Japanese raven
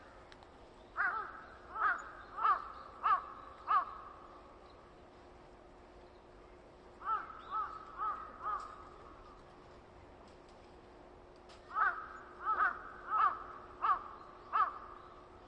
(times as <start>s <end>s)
1.0s 4.3s, 7.0s 9.2s, 11.6s 15.1s